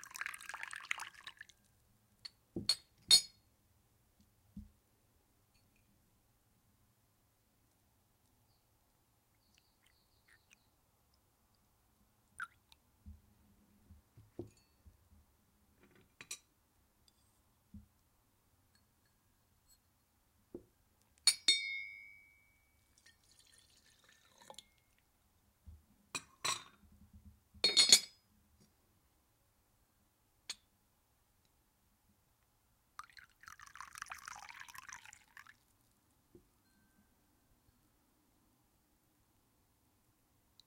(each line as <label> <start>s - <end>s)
bone china tea service - clinks nicely 21.3s - 22.6s